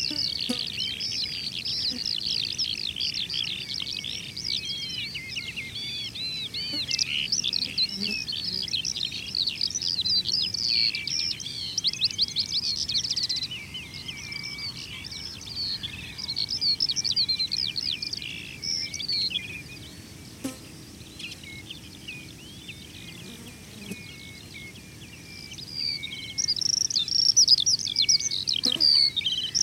Skylarks 0.0 - 29.6

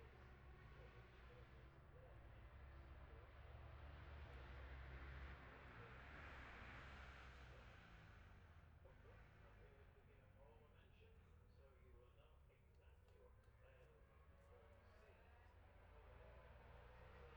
road racing 0.0 - 12.0
road racing 13.0 - 17.3

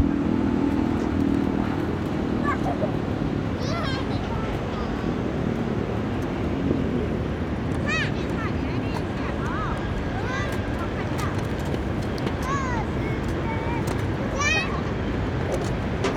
Traffic Sound 0.0 - 16.1
Child and mother 2.3 - 5.6
Child and mother 7.7 - 16.1

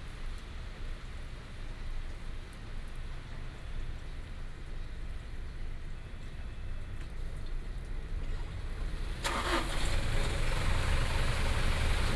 rain 0.0 - 12.1
Traffic sound 7.6 - 12.1

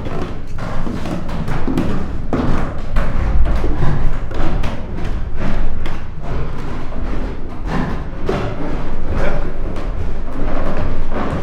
wooden stairs 0.0 - 11.4

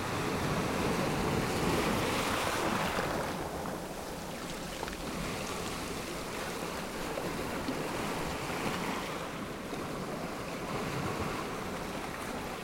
ocean surf on pebble beach 0.0 - 12.6

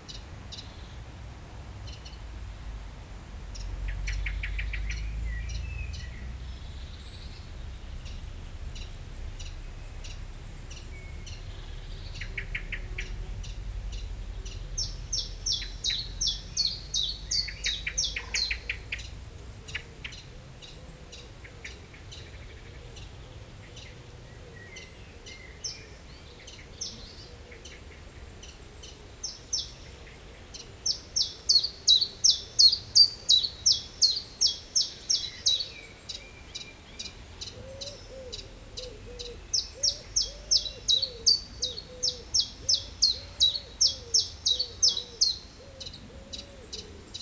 Common Moorhen 0.0 - 47.2
song of a Common Chiffchaff 0.0 - 47.2
Common Buzzard 1.6 - 21.2
Blackbird 3.4 - 21.8
Blackbird 30.9 - 47.2
Common Buzzard 31.9 - 47.2

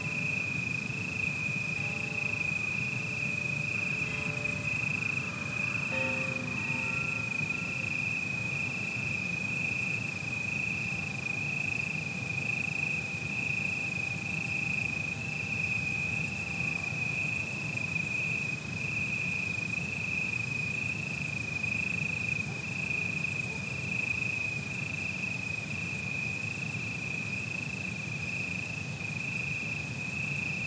insectos son los protagonistas con sus incesantes altas frecuencias 0.2 - 9.0

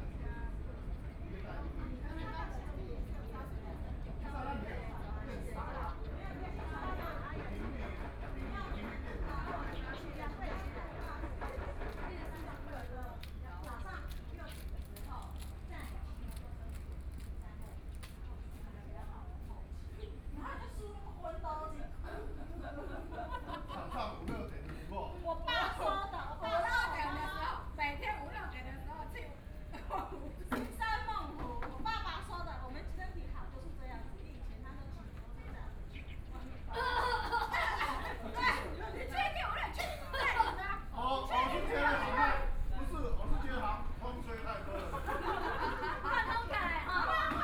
Trains traveling through 0.0 - 13.4
construction site noise 3.4 - 19.9
Birdsong 35.7 - 36.7

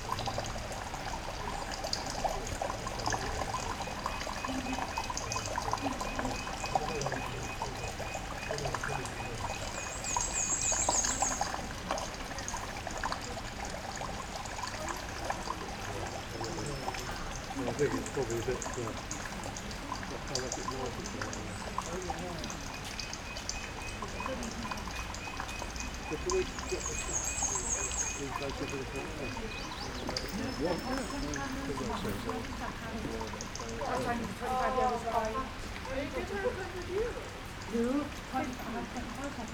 rain 0.0 - 39.5
voices 0.0 - 39.5
wind 0.0 - 39.5
robin 22.4 - 31.5

